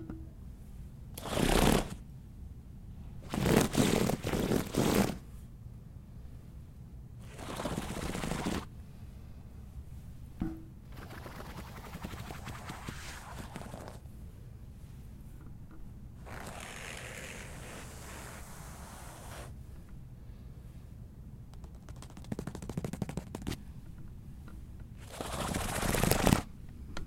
Rubbing hand on a cloth divider 1.2 - 2.0
Rubbing hand on a cloth divider 3.3 - 5.2
Rubbing hand on a cloth divider 7.3 - 8.7
Rubbing hand on a cloth divider 11.0 - 14.0
Rubbing hand on a cloth divider 16.2 - 19.6
Rubbing hand on a cloth divider 21.6 - 23.6

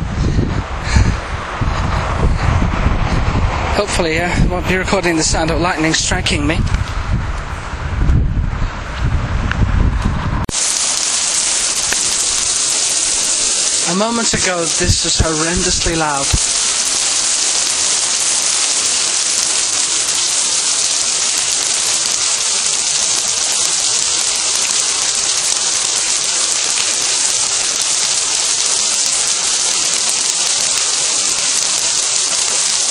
external and internal commentary 3.7 - 6.7
hailstones 10.5 - 32.9
external and internal commentary 13.8 - 16.4

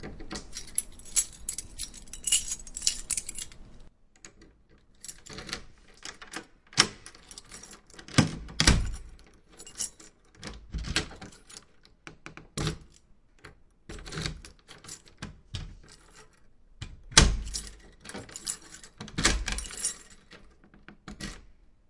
Key Locking and Unlocking Door 0.0 - 21.5

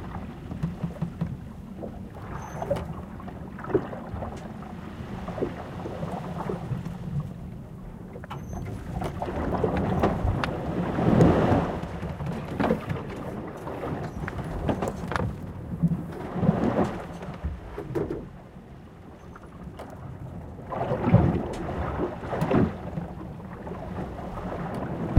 sailing ship 0.0 - 25.1
waves 0.0 - 25.1

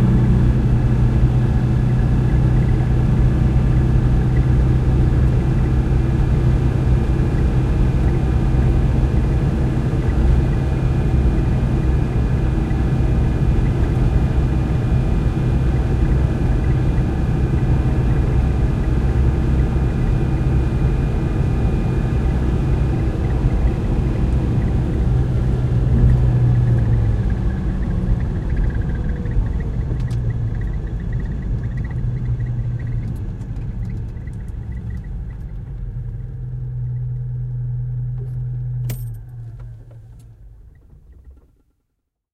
engine shut down 0.0 - 41.7
A car, start, driving on asphalt 0.0 - 41.8

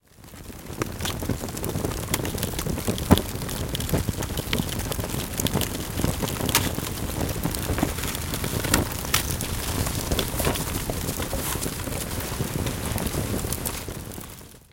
burn 0.0 - 14.7

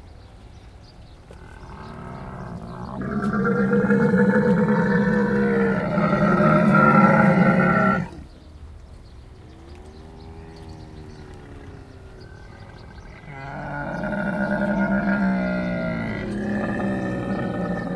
large group of male camels calling 1.3 - 8.3
large group of male camels calling 9.4 - 17.9

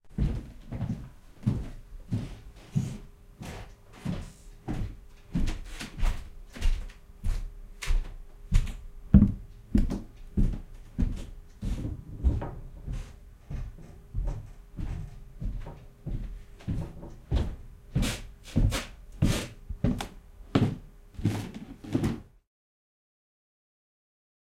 Footsteps on creaky, hardwood floor 0.2 - 22.4

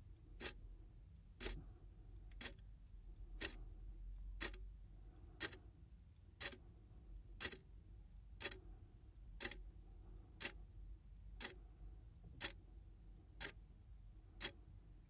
Wall Clock Ticking 1.4 - 1.6
Wall Clock Ticking 2.4 - 2.6
Wall Clock Ticking 3.4 - 3.6
Wall Clock Ticking 4.4 - 4.6
Wall Clock Ticking 5.4 - 5.6
Wall Clock Ticking 6.4 - 6.6
Wall Clock Ticking 7.4 - 7.6
Wall Clock Ticking 8.4 - 8.6
Wall Clock Ticking 9.4 - 9.6
Wall Clock Ticking 11.4 - 11.6
Wall Clock Ticking 12.4 - 12.6

